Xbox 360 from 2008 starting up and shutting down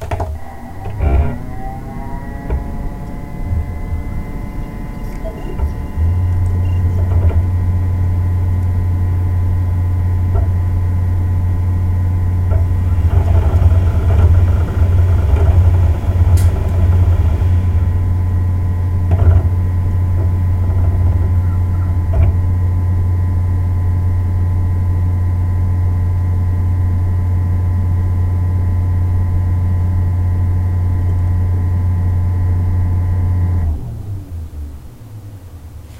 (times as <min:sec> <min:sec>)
0:00.0 0:25.0